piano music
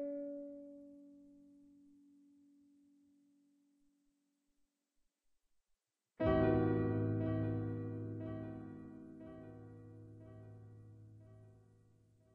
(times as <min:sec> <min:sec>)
0:06.2 0:12.3